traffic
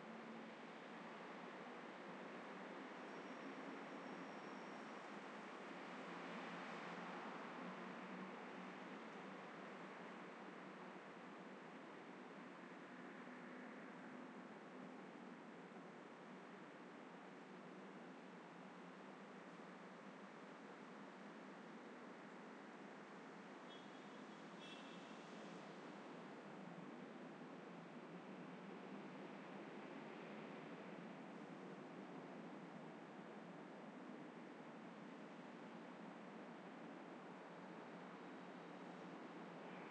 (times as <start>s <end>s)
19.3s 39.9s